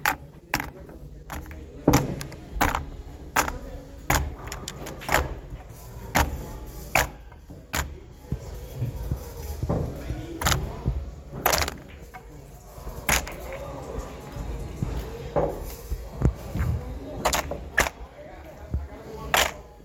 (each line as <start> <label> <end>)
0.0 Billiards balls into box 19.8